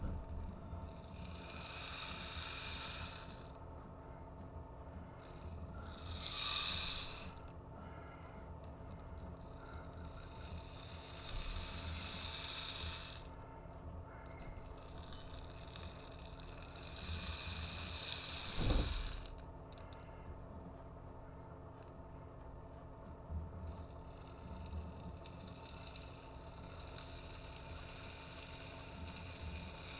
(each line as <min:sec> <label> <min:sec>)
0:00.8 rainstick 0:03.5
0:05.2 rainstick 0:07.5
0:09.6 rainstick 0:13.4
0:14.6 rainstick 0:19.9
0:23.7 rainstick 0:29.9